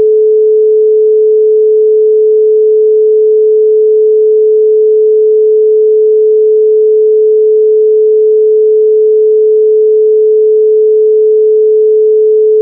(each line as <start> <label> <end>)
0.0 Pure Sine Wave 12.6